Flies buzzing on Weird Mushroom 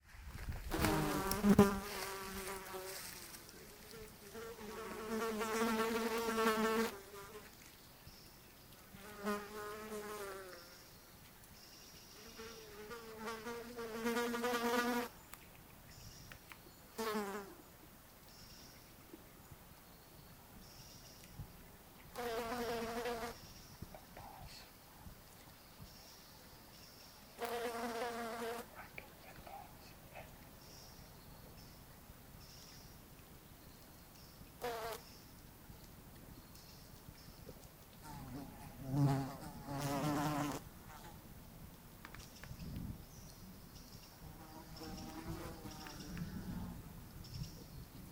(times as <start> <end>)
0.7 7.5, 12.2 15.1, 22.1 23.4, 27.4 29.8, 34.6 35.1, 38.0 41.2, 44.2 46.8